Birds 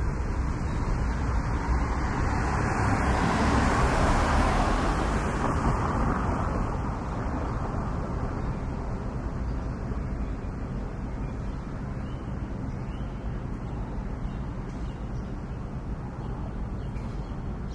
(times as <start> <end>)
8.4 17.7